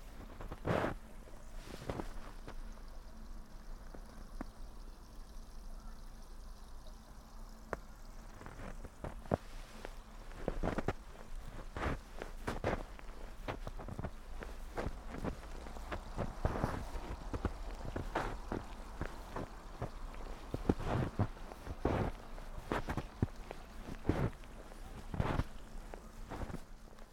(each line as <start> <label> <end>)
0.0 snow 27.1
0.0 stream 27.1
8.4 steps 26.7